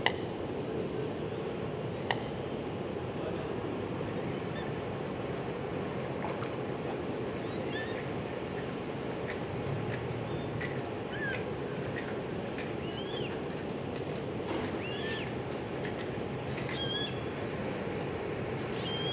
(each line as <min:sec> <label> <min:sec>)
0:05.8 birds flying around and moving in the water 0:17.4